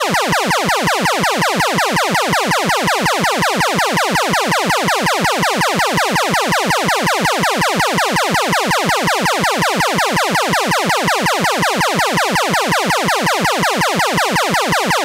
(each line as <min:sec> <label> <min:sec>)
0:00.0 cheap 8-bit like siren 0:15.0